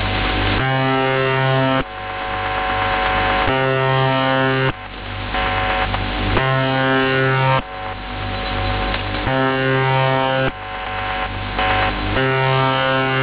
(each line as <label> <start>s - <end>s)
static 0.0s - 13.2s